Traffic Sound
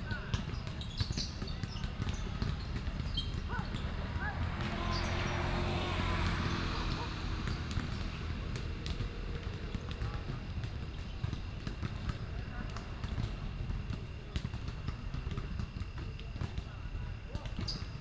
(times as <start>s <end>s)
1.3s 12.1s